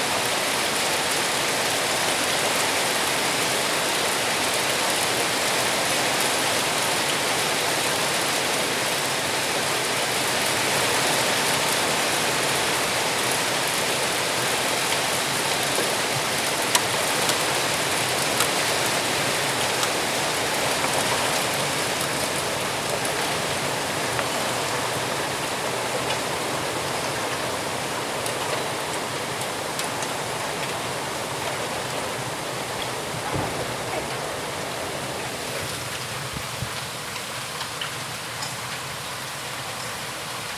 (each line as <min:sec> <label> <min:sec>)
0:00.0 Heavy Rain 0:40.5
0:01.0 Hail 0:40.5